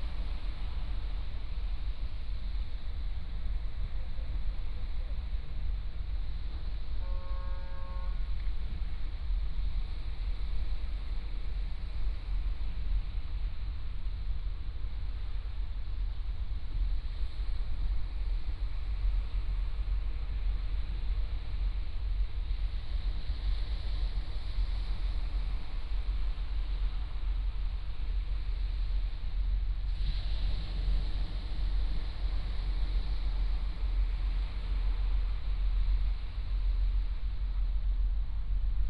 waves 0:00.0 - 0:38.8

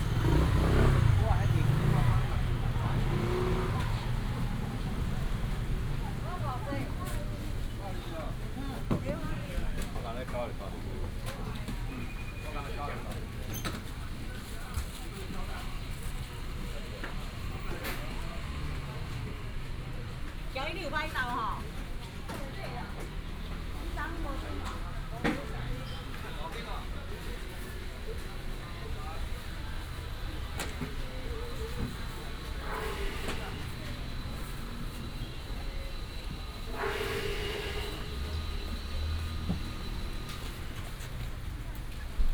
Traffic sound 0:00.0 - 0:42.3
Walking in the wholesale market 0:00.0 - 0:42.3

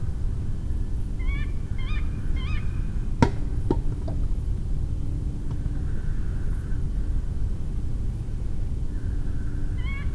distant traffic 0:02.9 - 0:05.9
apple falling 0:03.2 - 0:04.7

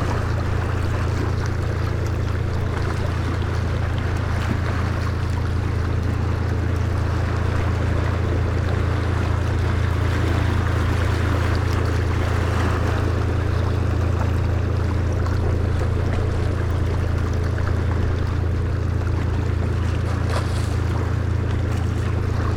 sea voices 0:00.0 - 0:22.5

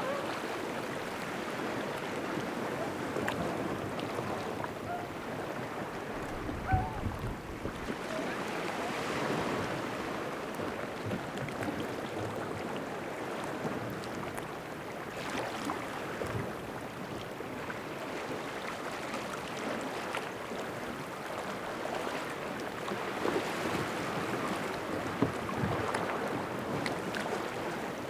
man minding his little boat 0:00.0 - 0:09.9
water 0:00.0 - 0:28.0

